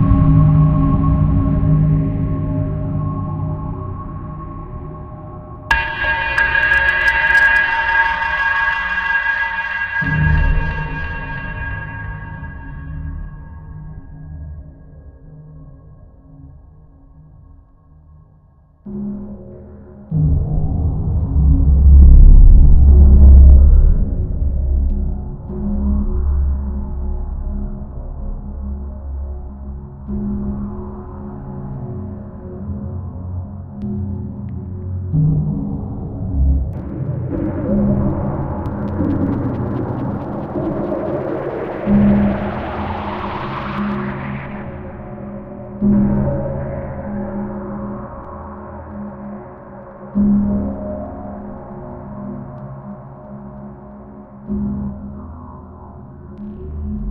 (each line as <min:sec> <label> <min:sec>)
0:00.0 Trippy Drone 0:14.2
0:05.7 crackle 0:13.8
0:20.4 Trippy Drone 0:57.1
0:36.8 crackle 0:54.8